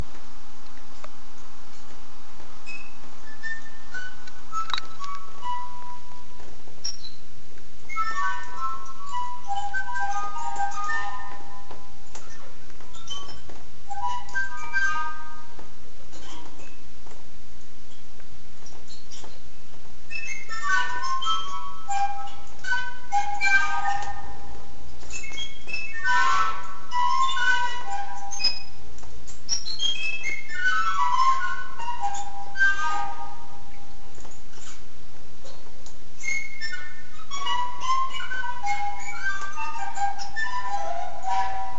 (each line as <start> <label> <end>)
2.6 reverberation of the bird cage bars 19.5
20.1 reverberation of the bird cage bars 35.6
36.2 reverberation of the bird cage bars 41.7